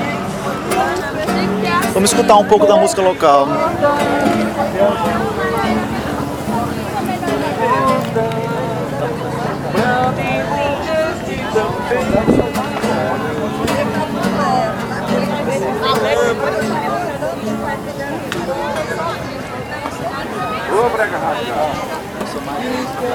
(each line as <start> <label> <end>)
0.3 Crazy tour guide presents the Flexeiras Beach 9.7